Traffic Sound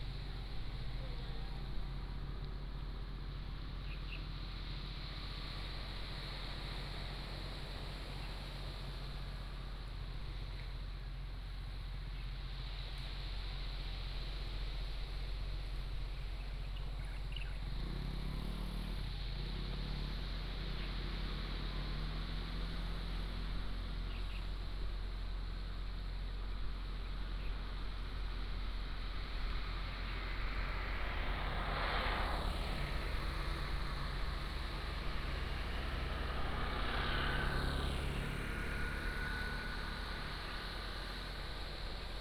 17.0s 42.2s

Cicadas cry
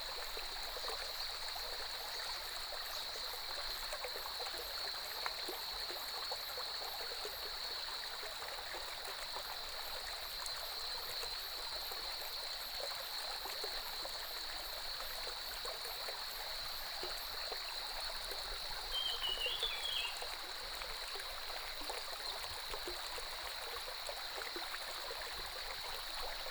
18.6s 20.3s

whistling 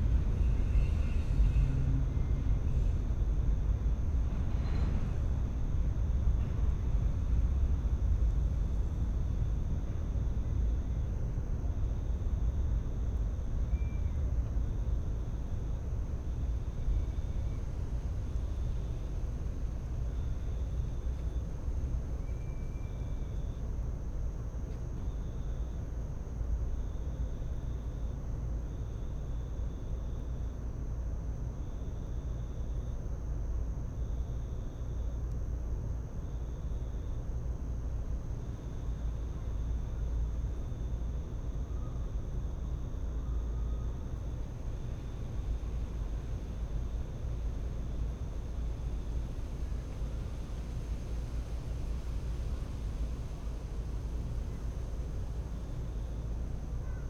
13.7s 14.3s, 22.2s 23.3s

